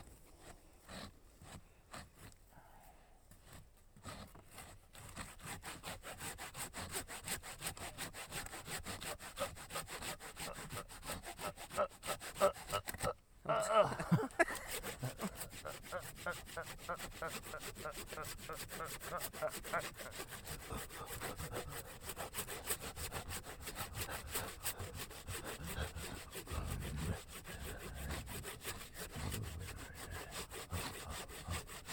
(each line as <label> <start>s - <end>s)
cutting wood 0.0s - 2.5s
cutting wood 3.3s - 13.2s
cutting wood 13.9s - 31.9s